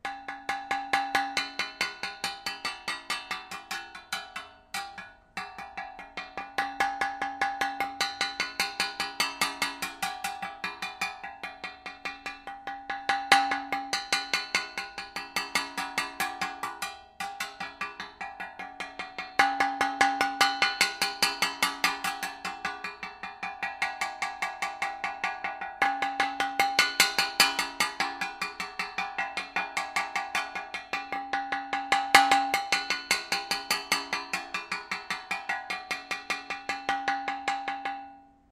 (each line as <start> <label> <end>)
0.0 drumming with a pen on a metal thing 38.2